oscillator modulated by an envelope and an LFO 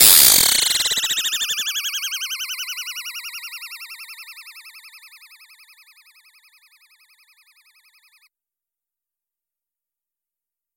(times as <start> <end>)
0.0 2.2